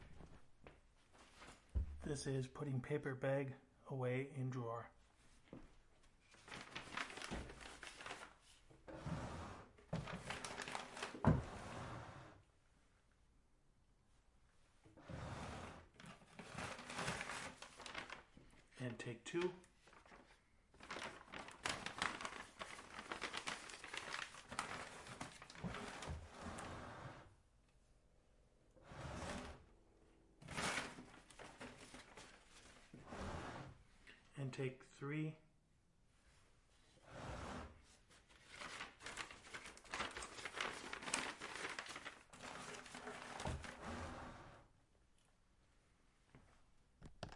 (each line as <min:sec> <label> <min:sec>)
0:09.9 Putting paper bag in drawer 0:11.7
0:16.0 Putting paper bag in drawer 0:18.3
0:20.8 Putting paper bag in drawer 0:26.6
0:30.4 Putting paper bag in drawer 0:32.6
0:38.5 Putting paper bag in drawer 0:44.0